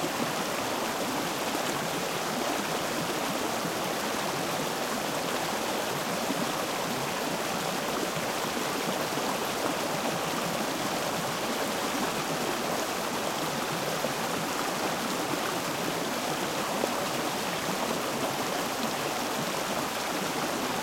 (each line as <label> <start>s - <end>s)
small waterfall 0.0s - 20.8s